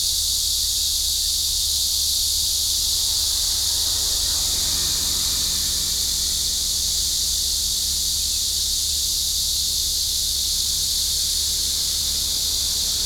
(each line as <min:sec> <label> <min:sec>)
0:00.0 Cicadas cry 0:13.0
0:02.4 Traffic sound 0:13.0